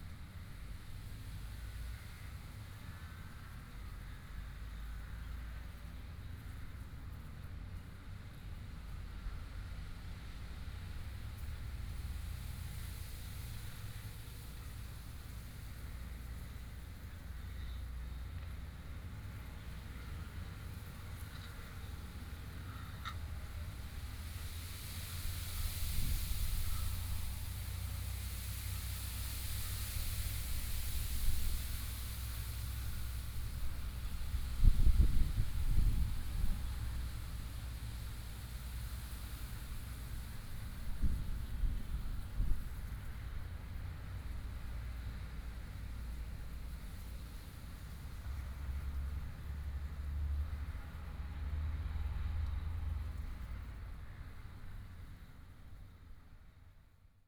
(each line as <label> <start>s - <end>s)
wind moving the leaves 19.4s - 49.8s
The river 19.7s - 53.5s